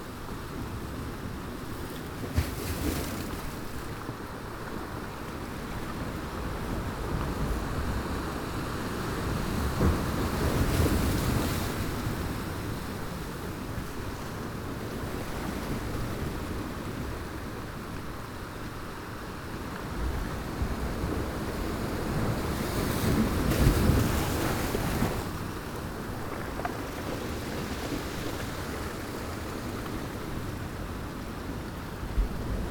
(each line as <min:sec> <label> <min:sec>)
0:00.0 wind 0:32.7